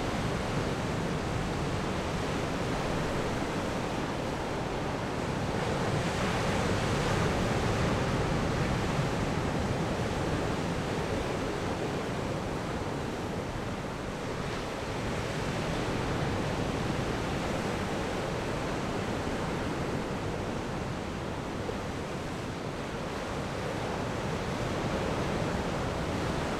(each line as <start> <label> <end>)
0.0 waves 26.5